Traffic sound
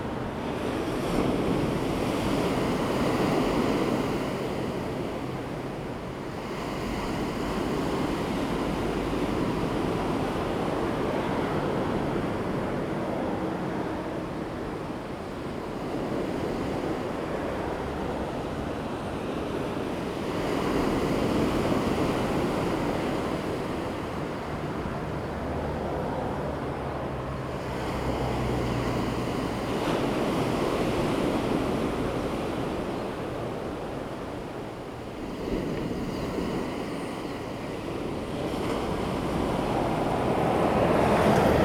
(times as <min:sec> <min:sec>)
0:23.2 0:32.4, 0:36.8 0:41.6